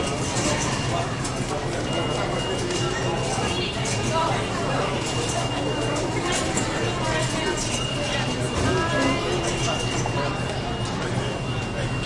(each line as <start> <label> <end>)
0.0 subway turnstyles busy 12.0